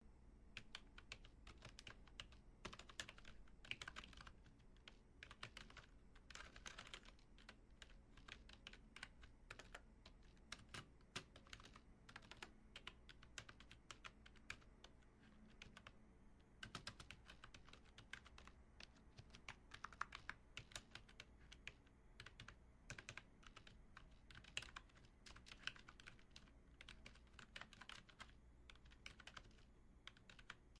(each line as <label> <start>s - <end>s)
Typing on Keyboard 0.6s - 30.7s